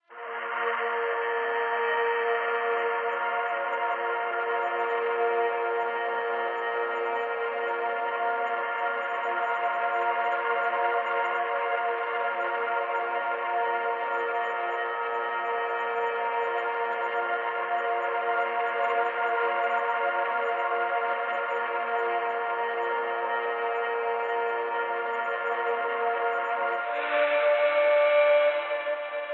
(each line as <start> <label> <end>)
0.1 spacey pad 29.3